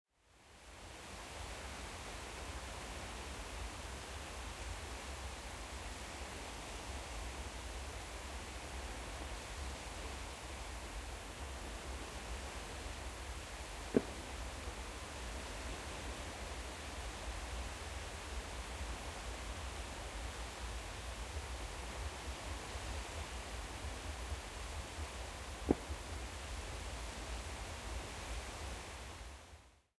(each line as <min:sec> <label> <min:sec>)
0:13.9 fireworks 0:14.2